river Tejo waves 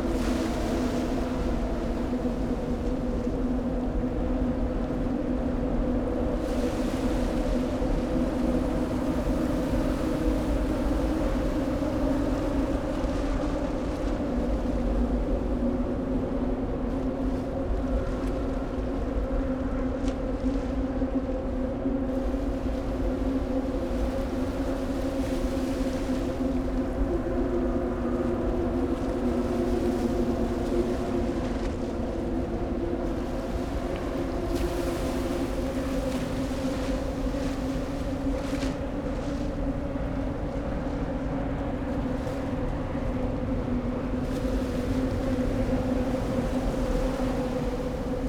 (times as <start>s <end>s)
22.1s 48.2s